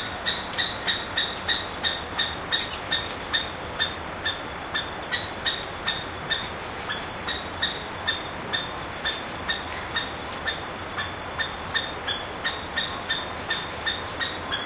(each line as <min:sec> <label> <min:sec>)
0:00.0 Seriema bird 0:14.6